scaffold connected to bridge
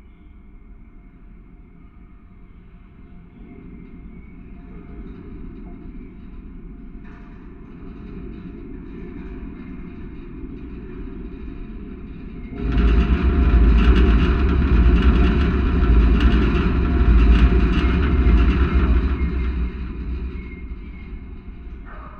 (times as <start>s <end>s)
7.4s 22.1s